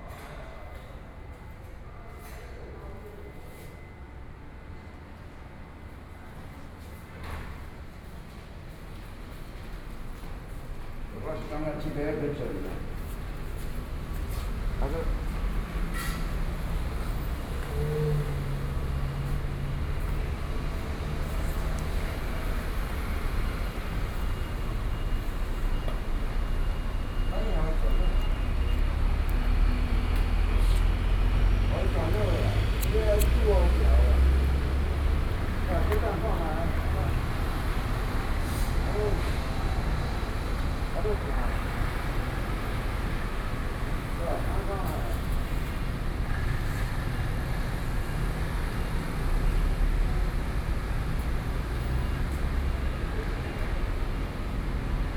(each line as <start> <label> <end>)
0.0 Traffic Noise 55.1
24.9 Workers are repairing the door 37.0